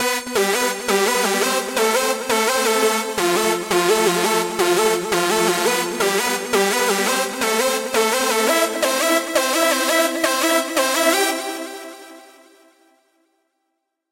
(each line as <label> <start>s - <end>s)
longer synth riff 0.1s - 11.6s